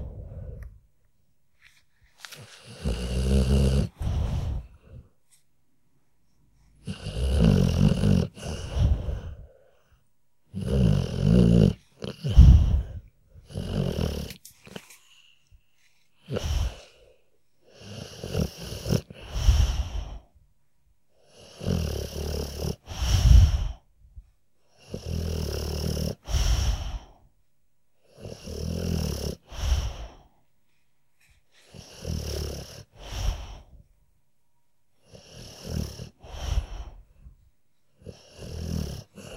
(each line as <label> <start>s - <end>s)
dog snoring 2.4s - 5.1s
dog snoring 6.7s - 9.8s
dog snoring 10.5s - 14.8s
dog snoring 16.2s - 20.3s
dog snoring 21.2s - 23.8s
dog snoring 24.7s - 27.2s
dog snoring 28.0s - 30.3s
dog snoring 31.6s - 33.7s
dog snoring 35.0s - 37.0s
dog snoring 38.0s - 39.3s